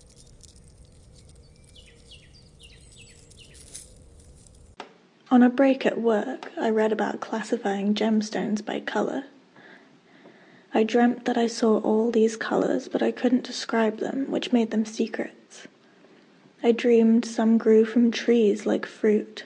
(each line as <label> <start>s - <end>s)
vocals 5.3s - 9.3s
vocals 10.7s - 15.7s